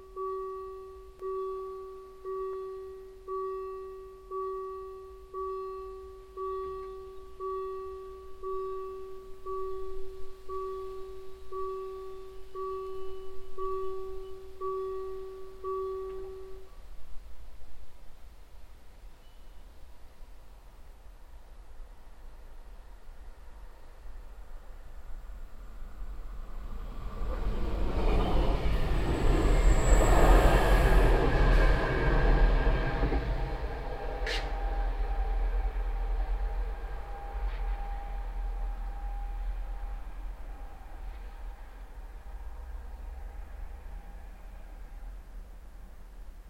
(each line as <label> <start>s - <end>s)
alarm signal 0.0s - 16.7s
train hooting in the valley 0.0s - 16.8s
train passing by 0.0s - 16.8s
train passing by 20.8s - 46.4s
train hooting in the valley 26.1s - 45.2s
alarm signal 28.0s - 41.3s